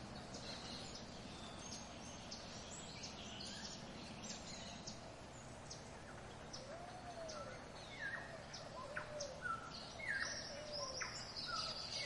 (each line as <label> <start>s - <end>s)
tropical birds 0.0s - 12.0s